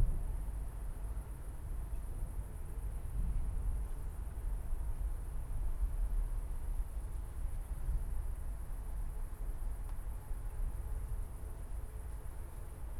moderate cricket activity 0:00.0 - 0:12.9

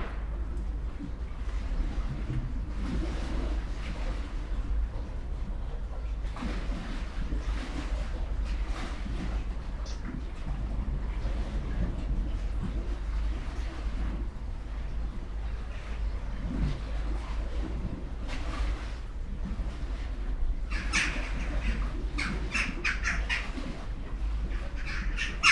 waves 0:00.0 - 0:25.5
black birds flying over roofs 0:19.8 - 0:25.5

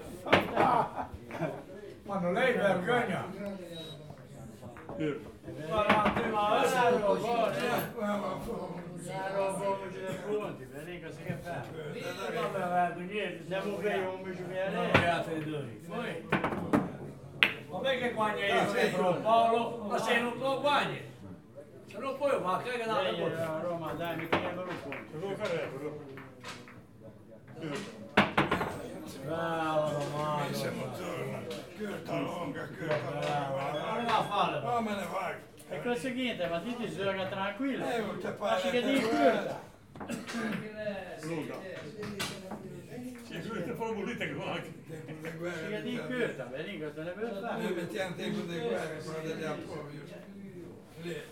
men throw billiard balls on the billiard table 0:00.0 - 0:01.5
men throw billiard balls on the billiard table 0:04.5 - 0:07.9
men throw billiard balls on the billiard table 0:16.2 - 0:17.7
men throw billiard balls on the billiard table 0:23.4 - 0:29.2

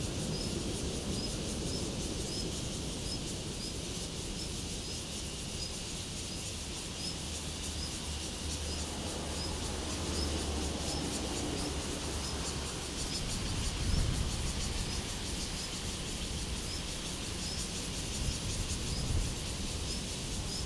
Cicadas sound 0:00.0 - 0:20.6
Traffic Sound 0:07.3 - 0:15.1

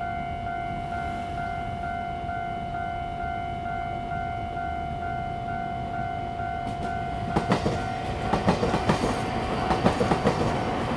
The train runs through 0:00.0 - 0:10.9
Railroad Crossing 0:00.0 - 0:10.9

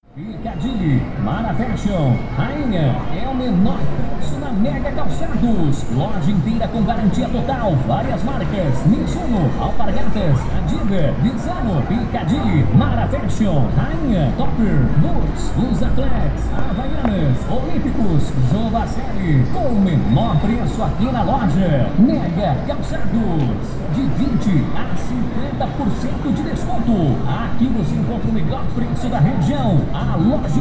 vehicles 0:00.0 - 0:30.6
voices 0:00.0 - 0:30.6
wind 0:00.0 - 0:30.6
Steps 0:13.8 - 0:21.1

